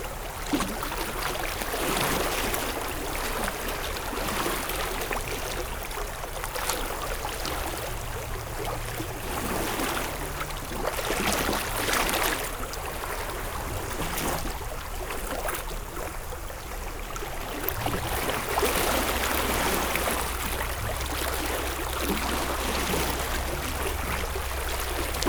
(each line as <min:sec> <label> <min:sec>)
0:00.0 water and waves 0:25.2